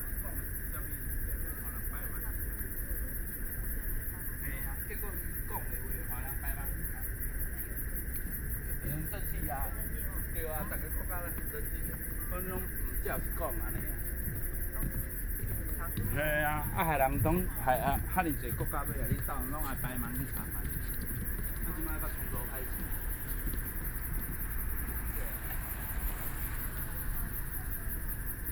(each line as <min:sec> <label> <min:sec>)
0:00.0 Frogs sound 0:28.5
0:00.0 Pedestrians walking and running 0:28.5
0:06.3 Traffic Sound 0:28.5
0:08.1 Bicycle Sound 0:28.5